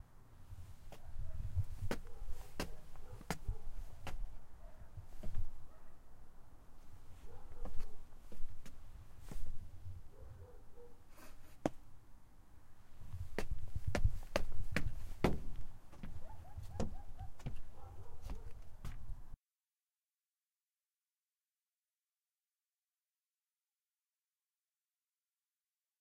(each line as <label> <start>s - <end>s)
Steps on some back patio-like wooden stairs 0.7s - 5.7s
Steps on some back patio-like wooden stairs 6.8s - 9.9s
Steps on some back patio-like wooden stairs 11.4s - 11.9s
Steps on some back patio-like wooden stairs 13.0s - 19.3s